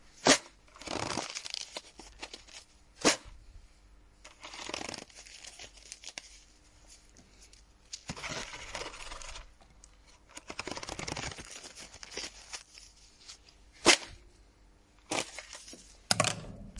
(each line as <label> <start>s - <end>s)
opening and closing a paper fan 0.2s - 3.3s
opening and closing a paper fan 7.9s - 12.7s